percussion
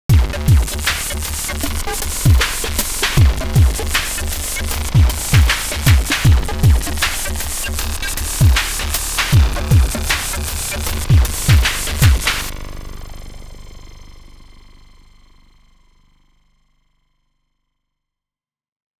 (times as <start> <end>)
0.1 12.7